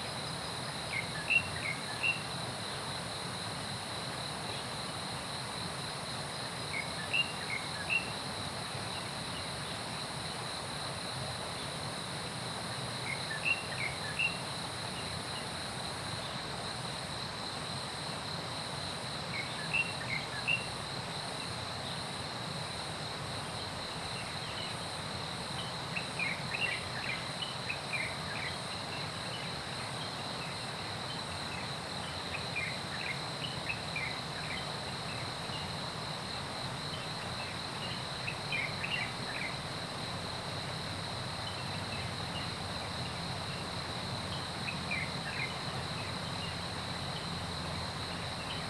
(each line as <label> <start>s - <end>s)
Insect sounds 0.0s - 48.6s
Stream gathering place 0.0s - 48.6s